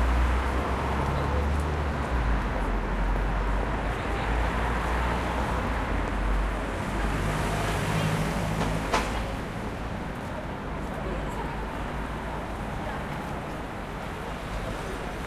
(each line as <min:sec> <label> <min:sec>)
0:00.0 bus 0:15.2
0:00.0 traffic 0:15.2